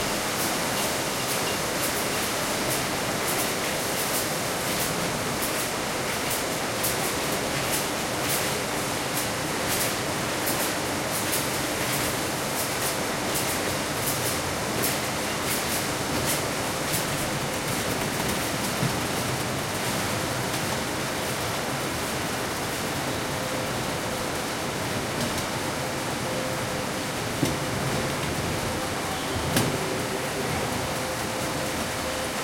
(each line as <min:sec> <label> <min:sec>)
0:00.0 conveyor belt 0:32.4
0:22.5 Machinery noises 0:32.4